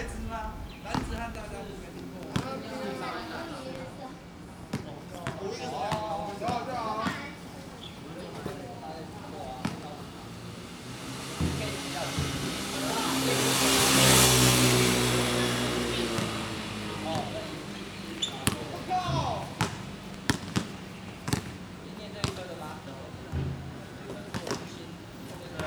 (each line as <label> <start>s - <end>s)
Birds singing 0.0s - 2.2s
Traffic Sound 0.0s - 3.5s
Traffic Sound 7.6s - 25.6s